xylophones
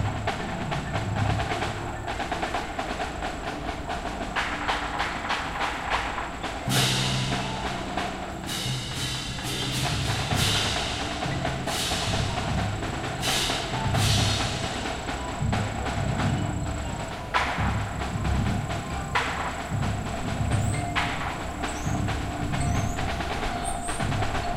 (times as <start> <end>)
6.4 24.5